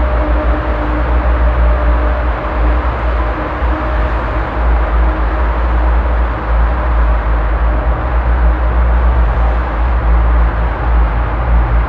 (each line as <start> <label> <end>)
0.0 passing by traffic reverbing in the tunnel tube 11.8